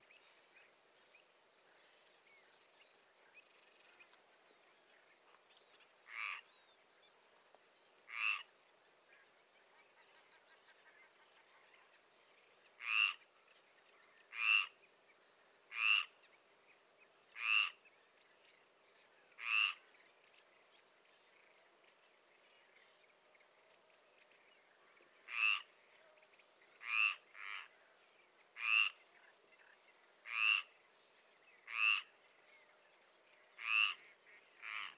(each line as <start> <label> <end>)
0.0 insect 34.9
5.3 frog 6.6
8.0 frog 13.3
14.0 frog 14.9
15.6 frog 16.4
17.2 frog 17.9
19.2 frog 20.0
25.0 frog 32.8
33.4 frog 34.9